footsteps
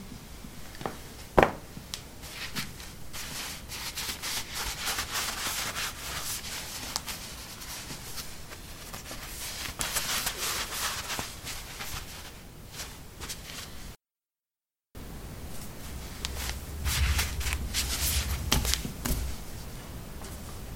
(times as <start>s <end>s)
15.4s 20.7s